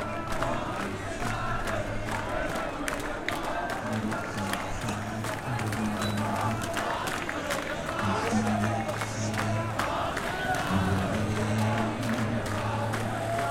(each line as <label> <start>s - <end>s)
chant 0.0s - 13.5s